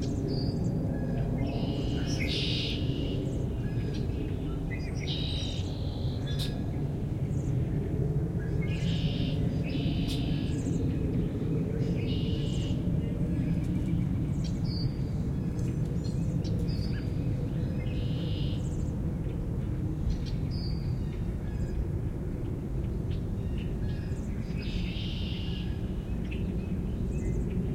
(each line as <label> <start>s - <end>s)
Northern Cardinal 0.0s - 7.7s
wind rustling through the trees 0.0s - 27.7s
Song Sparrow 1.4s - 3.2s
Song Sparrow 4.7s - 6.6s
Northern Cardinal 8.4s - 27.7s
Song Sparrow 8.6s - 10.7s
Song Sparrow 11.9s - 12.8s
Song Sparrow 16.0s - 18.9s
Song Sparrow 24.2s - 27.5s